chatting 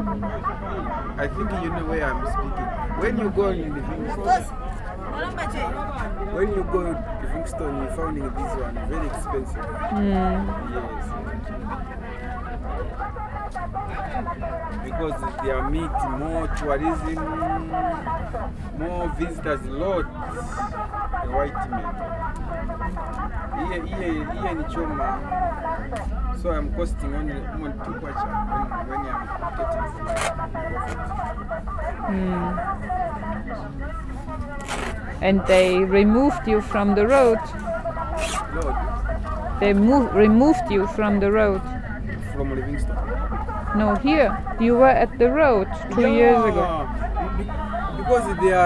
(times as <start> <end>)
27.4 48.6